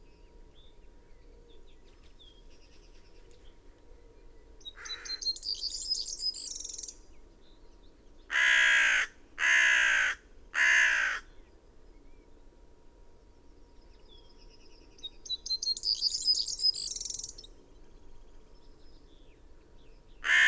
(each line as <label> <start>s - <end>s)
background noise 0.0s - 20.4s
blackbird 4.6s - 7.0s
crow 4.8s - 5.2s
crow 8.3s - 11.3s
blackbird 15.0s - 20.4s
blue tit 15.2s - 17.5s
pheasant 20.2s - 20.4s
crow 20.2s - 20.4s